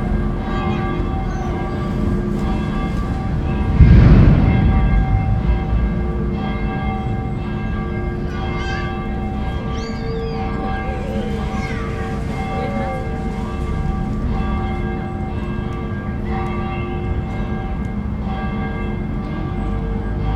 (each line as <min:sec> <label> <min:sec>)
0:00.0 kids playing 0:03.8
0:00.0 Church Bells 0:20.3
0:04.4 kids playing 0:15.4